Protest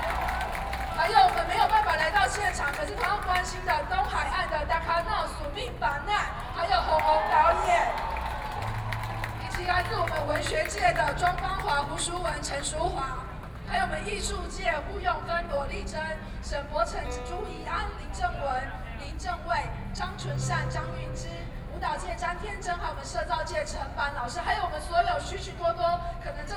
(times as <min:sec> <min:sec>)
0:00.0 0:14.0